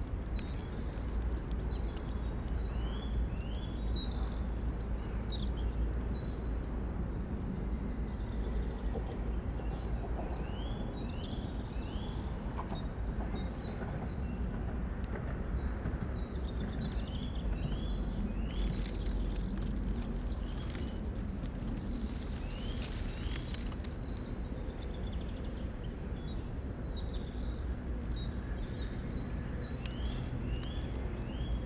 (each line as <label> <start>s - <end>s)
Traffic 0.0s - 7.0s
Traffic 7.6s - 31.6s
gusty wind 8.8s - 31.6s